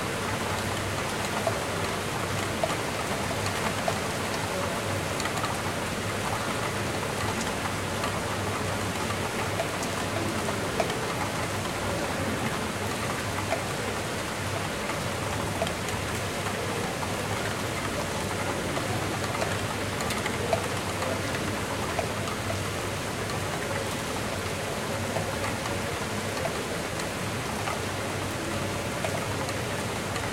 0.0s havy rain 30.3s

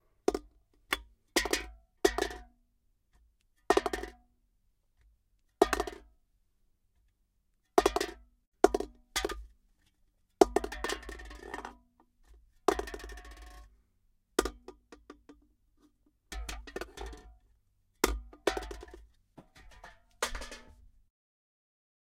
18.0s throwing can 21.0s

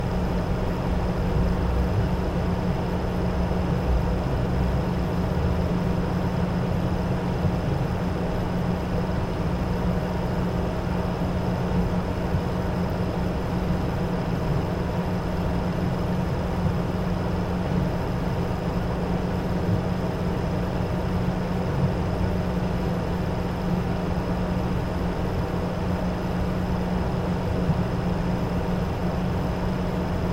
0.0s Computer Fan 30.3s

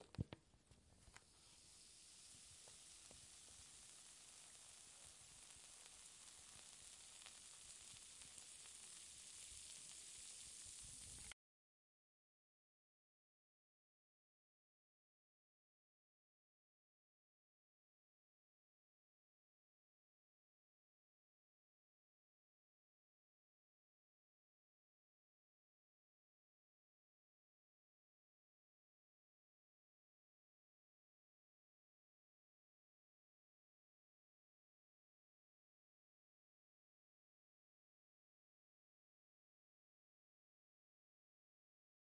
1.1s baking soda mixed with water 11.4s

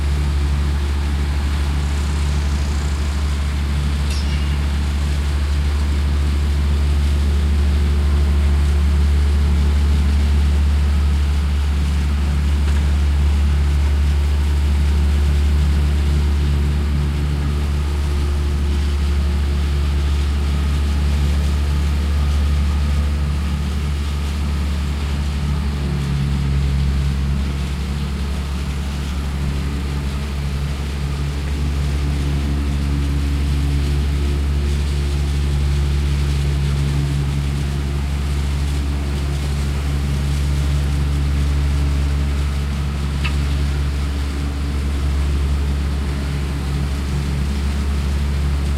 0.0s Engines working at a medium rate 48.7s
0.0s Trucks and machinery building an apartment 48.7s

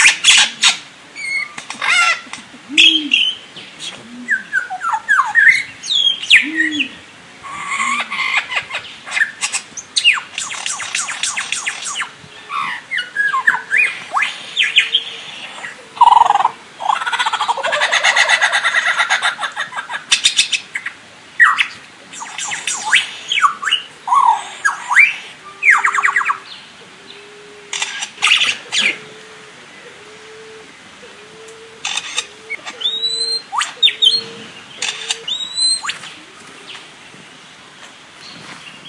0.0s Lyrebird imitating sounds 29.2s
27.7s camera shutter 28.4s
31.0s Lyrebird imitating sounds 36.8s
31.8s camera shutter 32.3s
34.8s camera shutter 35.3s

